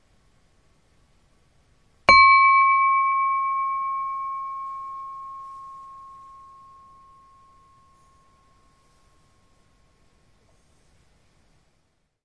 2.1s crystal wine glass struck with a rubber headed mallet 8.6s

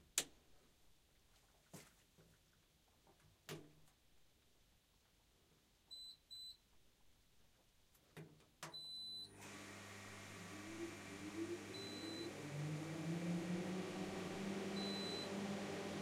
9.3s Start-up of the little power plant 16.0s

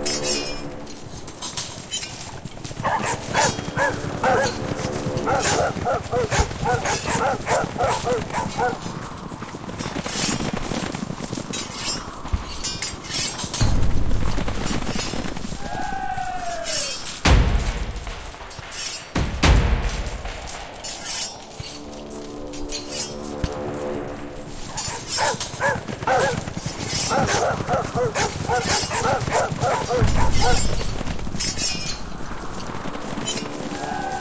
0.0s horses 34.2s
2.8s dogs 9.0s
11.8s drums 22.2s
24.7s dogs 31.1s
26.9s drums 34.2s

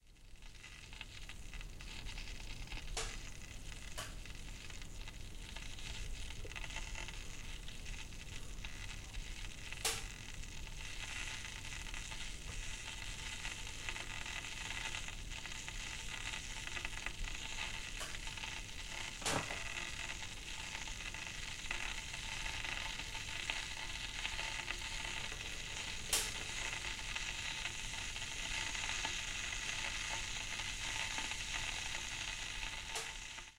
0.0s small amount of water being boiled off in a saucepan 33.5s

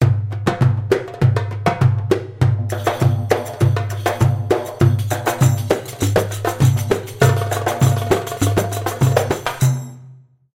0.0s Percussion instrument of darbouka 10.3s

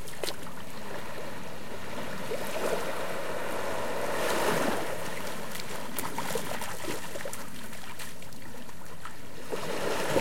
0.0s waves 10.2s

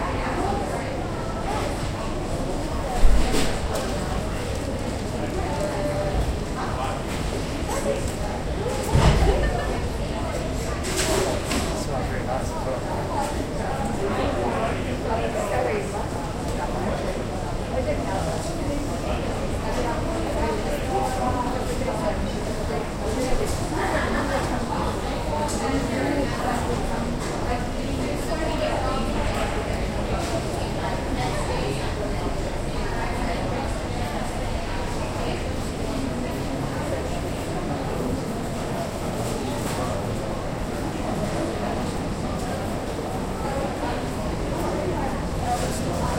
0.0s Passers-by talking 46.1s

